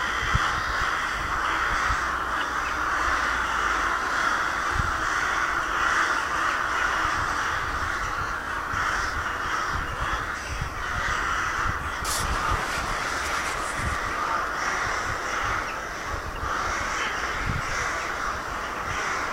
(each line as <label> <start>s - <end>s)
Rook and Crow call 0.0s - 19.3s
magpie 0.0s - 19.3s